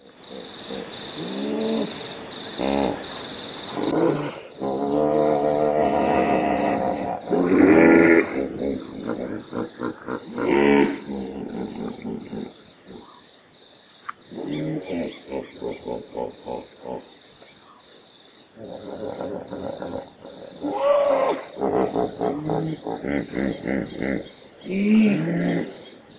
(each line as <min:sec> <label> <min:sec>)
0:03.7 hippos is grunting 0:13.2
0:18.6 hippos is grunting 0:25.8